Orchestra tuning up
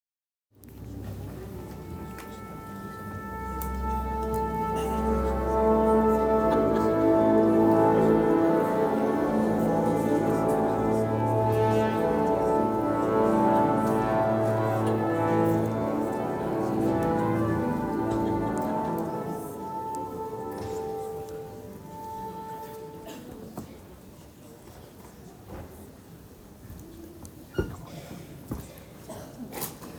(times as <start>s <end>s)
0.6s 24.0s